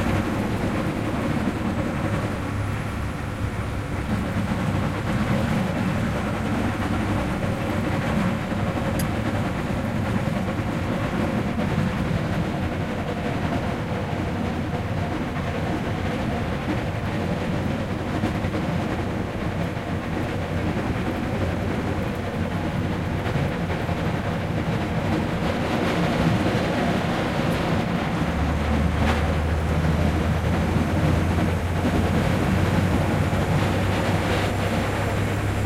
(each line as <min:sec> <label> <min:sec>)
0:00.0 truck with snowplough, driving inside 0:35.6